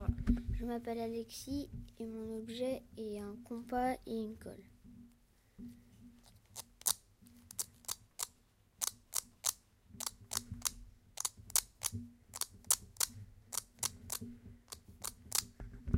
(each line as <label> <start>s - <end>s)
compass and glue 6.1s - 15.7s